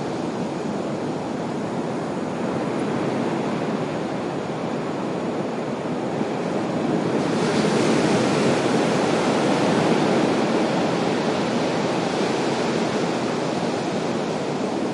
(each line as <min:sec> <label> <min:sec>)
0:00.0 waves on beach 0:14.9